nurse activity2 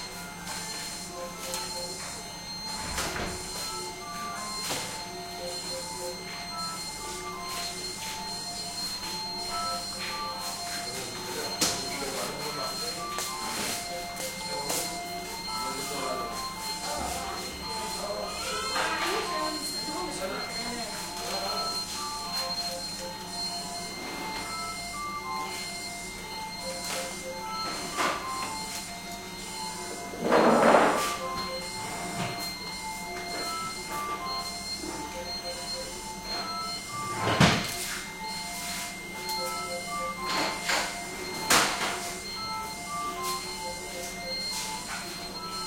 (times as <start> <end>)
31.0 45.6